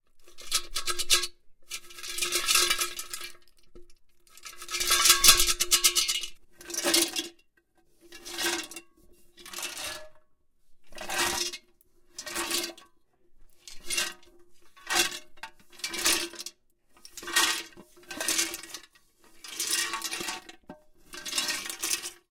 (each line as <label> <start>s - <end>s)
Crayons rattled around in a small metal pot 0.1s - 7.4s
Crayons rattled around in a small metal pot 13.6s - 22.3s